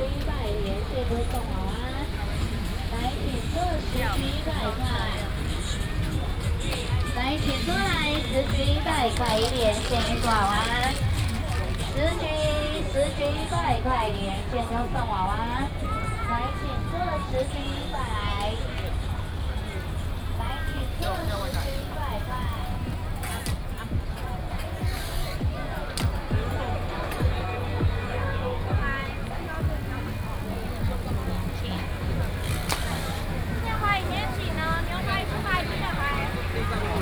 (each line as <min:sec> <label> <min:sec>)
0:00.0 Walking in the night market 0:37.0
0:00.0 traffic sound 0:37.0
0:00.0 vendors peddling 0:37.0